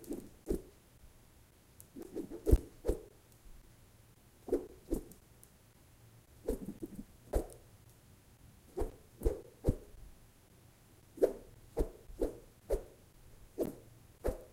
air whooshes made with wooden tubes in air 0:02.0 - 0:03.1
air whooshes made with wooden tubes in air 0:11.2 - 0:12.9
air whooshes made with wooden tubes in air 0:13.6 - 0:14.5

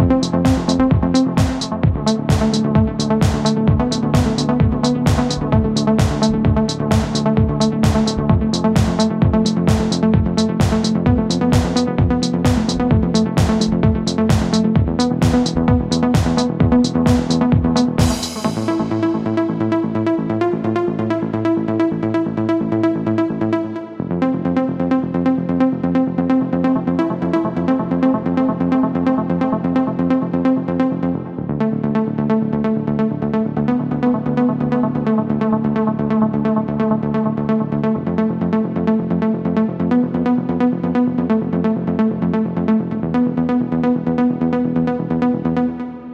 synth 0:00.0 - 0:17.5

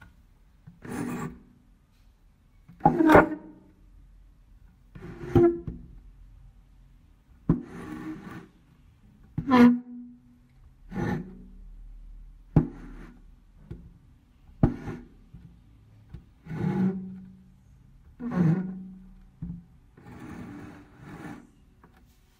table when pushed or moved from its place 0:00.8 - 0:01.5
table when pushed or moved from its place 0:02.7 - 0:03.7
table when pushed or moved from its place 0:04.9 - 0:05.9
table when pushed or moved from its place 0:07.5 - 0:08.5
table when pushed or moved from its place 0:10.9 - 0:11.5
table when pushed or moved from its place 0:12.6 - 0:13.8
table when pushed or moved from its place 0:14.6 - 0:15.2
table when pushed or moved from its place 0:16.4 - 0:17.4
table when pushed or moved from its place 0:18.1 - 0:19.0
table when pushed or moved from its place 0:20.0 - 0:22.3

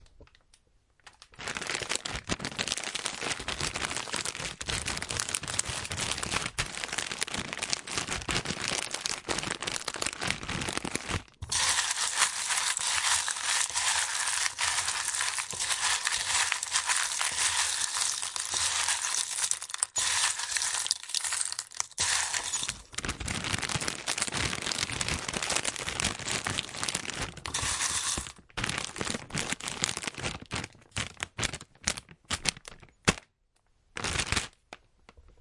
peanuts 0:01.2 - 0:32.0
foil 0:10.9 - 0:23.2
bowl 0:11.4 - 0:22.9
bag 0:11.5 - 0:25.1
bag 0:27.1 - 0:28.8

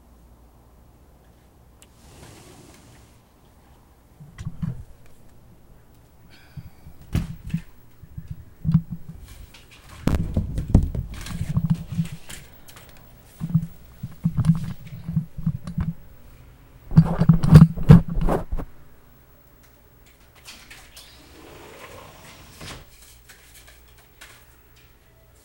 USB mic stand banging around 0:10.0 - 0:12.6
USB mic stand banging around 0:13.4 - 0:16.0
USB mic stand banging around 0:16.9 - 0:18.7

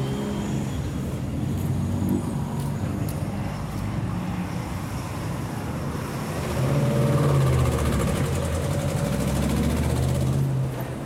Walking for a small street 0:00.0 - 0:11.0

